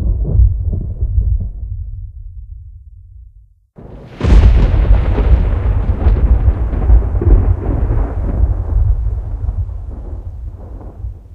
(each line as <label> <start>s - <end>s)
thunder claps 0.0s - 1.9s
thunder claps 3.8s - 11.3s